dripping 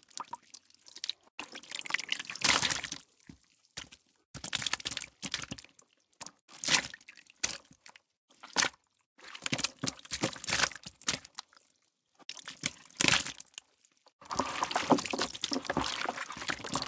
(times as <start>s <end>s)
14.2s 16.8s